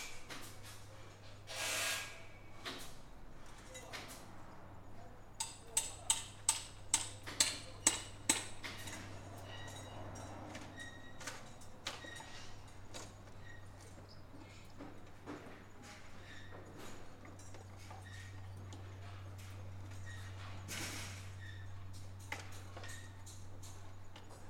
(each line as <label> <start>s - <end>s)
builders completing the frame of a modern wooden house 0.0s - 24.4s